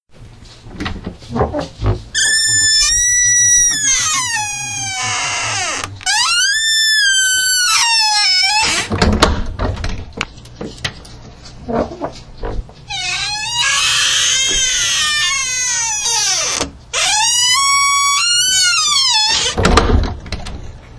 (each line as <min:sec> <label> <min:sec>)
0:01.3 Door Squeak Close 0:09.1
0:11.7 Door Squeak Close 0:19.9